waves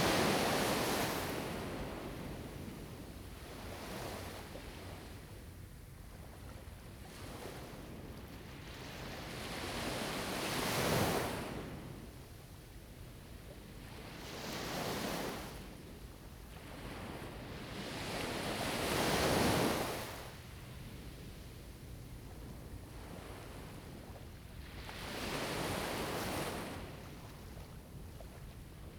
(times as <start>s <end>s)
13.4s 28.9s